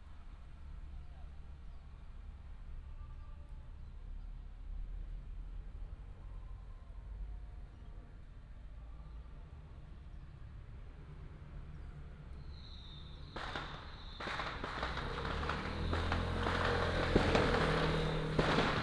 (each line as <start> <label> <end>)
13.2 Firecrackers 18.8
13.2 fireworks 18.8